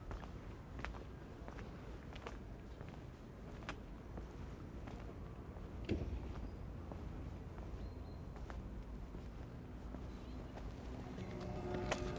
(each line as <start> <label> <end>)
10.6 resonant railings 12.1
10.8 sounds of work inside 12.1